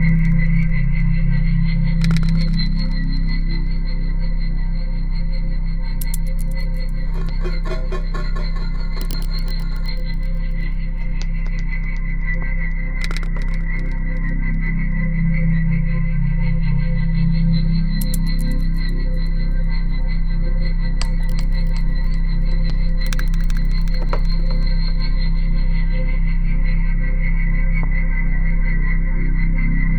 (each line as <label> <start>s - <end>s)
low-frequency drone 0.0s - 29.9s
click 2.0s - 3.4s
glitches 2.0s - 3.7s
click 6.0s - 14.3s
glitches 6.0s - 14.5s
click 18.0s - 19.4s
click 21.0s - 25.1s
glitches 21.0s - 25.1s